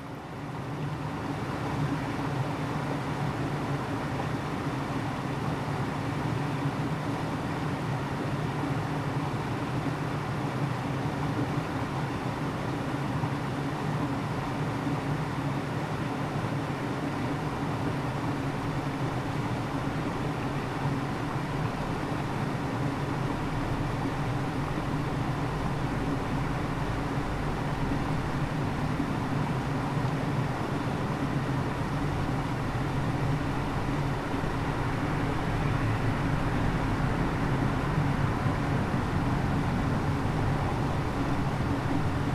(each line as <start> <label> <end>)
17.4 passage des véhiculs 42.3